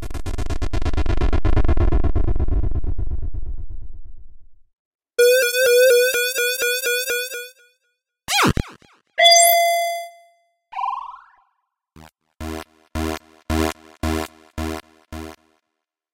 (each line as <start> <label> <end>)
9.2 bleep 11.4